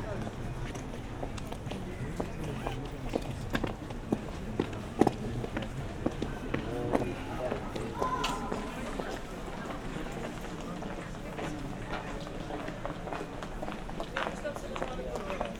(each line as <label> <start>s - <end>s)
steps from pedestrians 0.0s - 15.5s
kids from the nearby kindergarden 6.6s - 9.3s